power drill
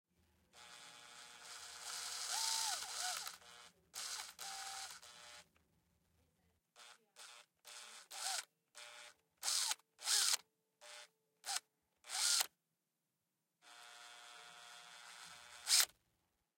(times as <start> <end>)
0.6 5.5, 6.8 12.5, 13.6 15.9